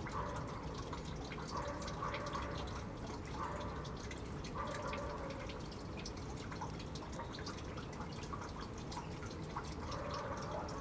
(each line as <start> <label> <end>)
0.0 Rain gathers 10.8
0.0 dog barks 0.6
1.5 dog barks 3.9
4.5 dog barks 5.5
9.8 dog barks 10.8